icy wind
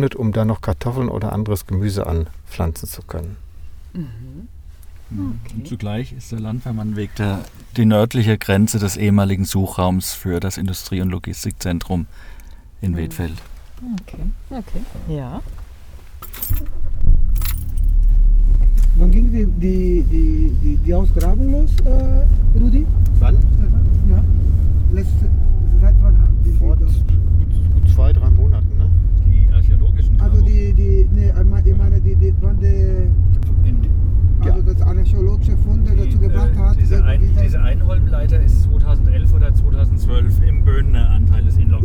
11.0 41.8

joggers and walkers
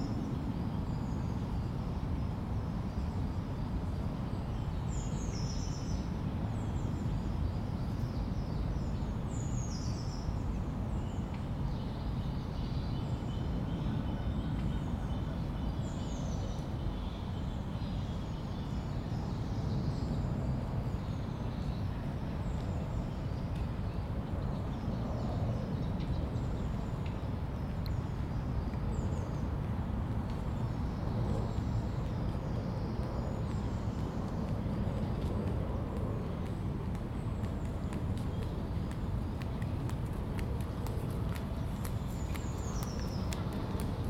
31.5 44.0

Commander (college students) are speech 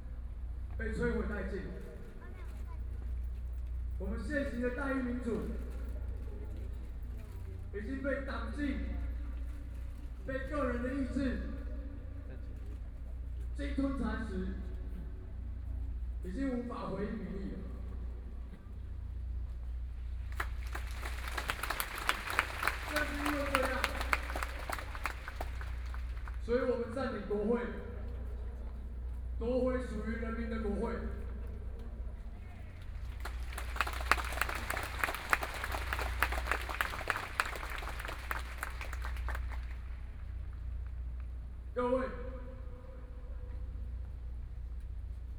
0.1 19.0, 22.4 33.0, 41.7 43.5

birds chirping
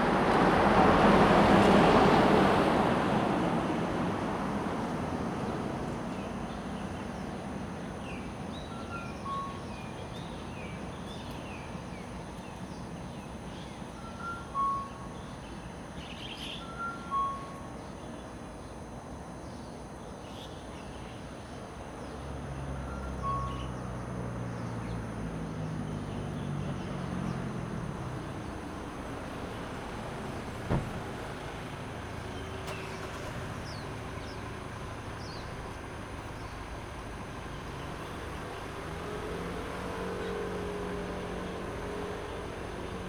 32.2 36.7

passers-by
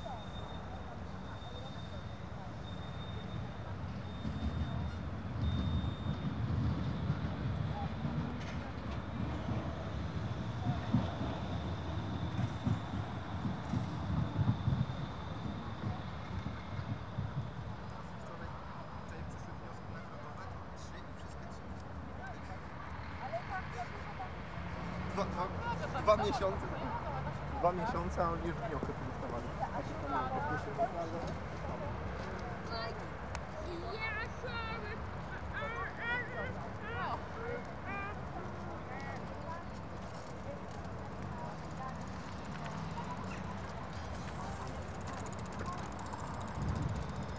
21.8 47.3

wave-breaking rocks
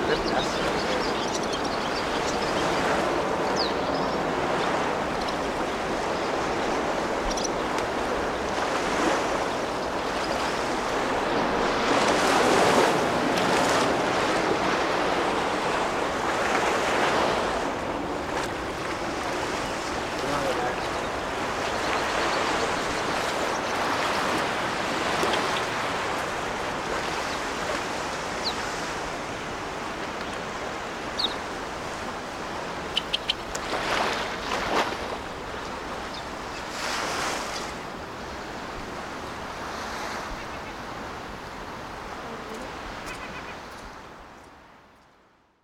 4.5 36.0

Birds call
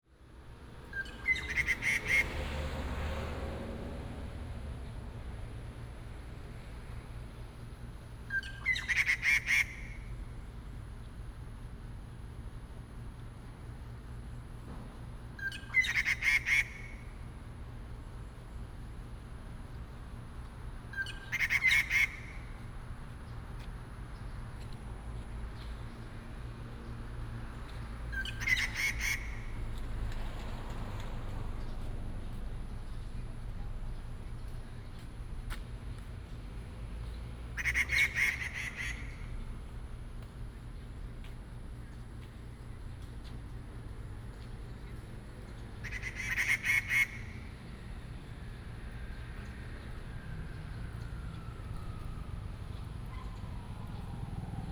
1.0 2.4, 8.3 10.1, 15.4 17.1, 20.9 22.6, 27.8 29.8, 37.6 39.4, 45.6 47.7

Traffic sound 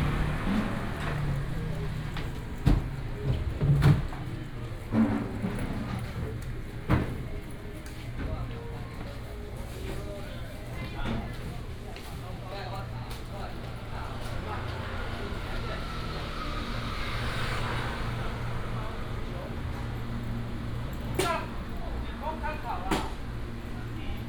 0.0 6.8, 12.3 24.2

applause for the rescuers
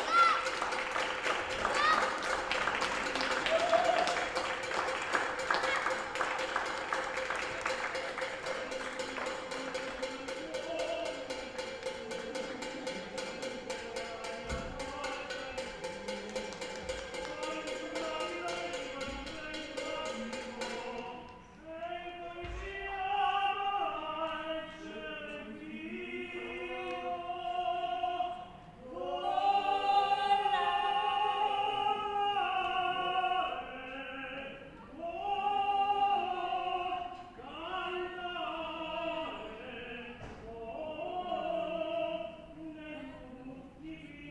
0.3 8.5

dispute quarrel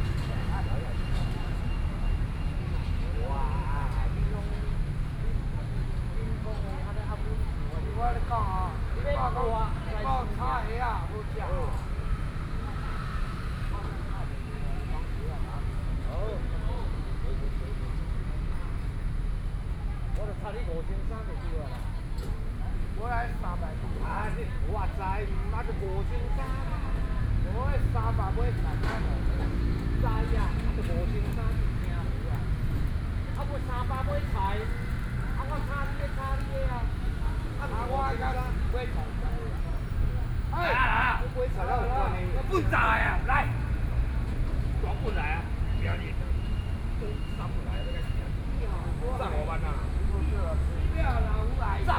40.5 43.8

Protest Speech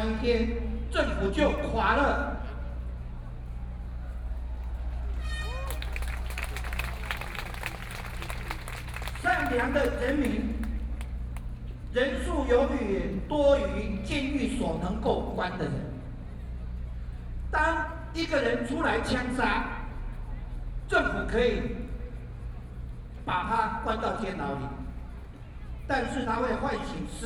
5.5 11.1

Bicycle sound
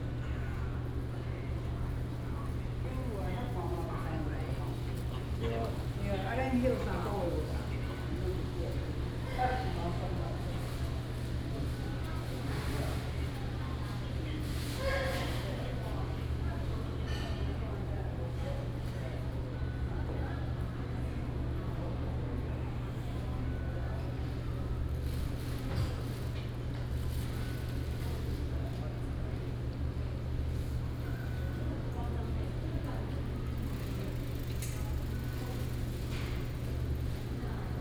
33.5 37.4

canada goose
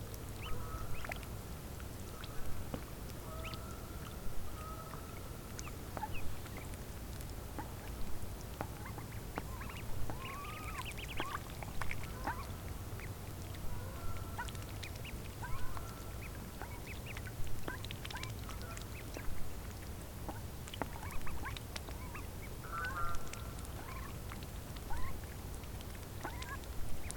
0.4 1.2, 3.2 6.7, 8.6 19.4, 20.3 24.2, 24.9 25.3, 26.2 27.1

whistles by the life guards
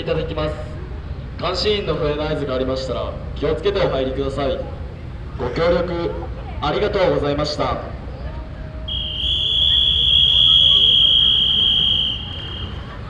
8.9 13.0

